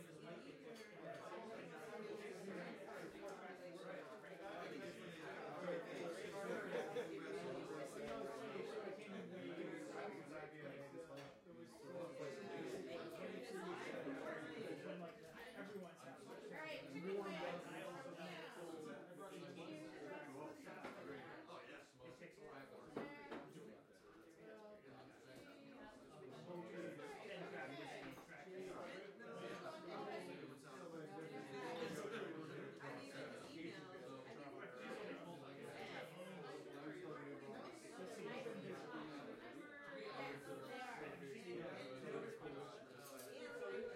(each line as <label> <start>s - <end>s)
people talking and laughing 0.0s - 43.9s